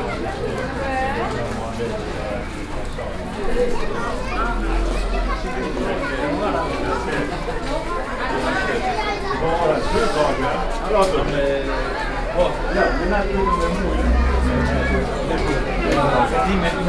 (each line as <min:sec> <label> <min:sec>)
0:00.0 Children and parents 0:16.8